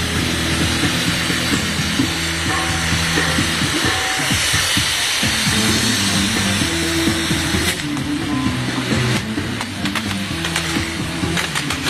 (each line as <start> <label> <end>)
0.3 fireworks 11.8